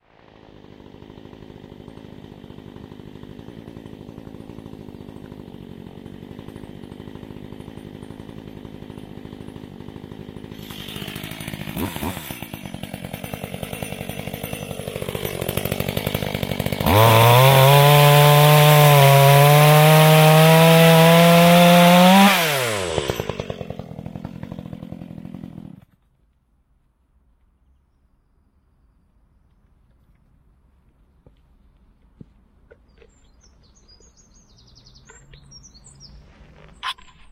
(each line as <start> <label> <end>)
0.0 Chainsaw 26.0